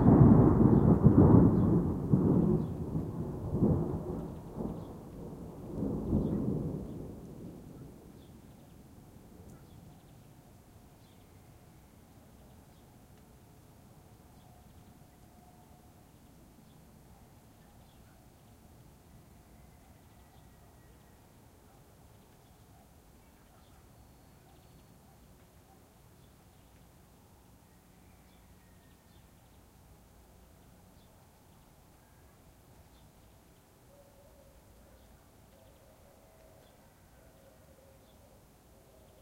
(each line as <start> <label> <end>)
0.0 close lightning 8.0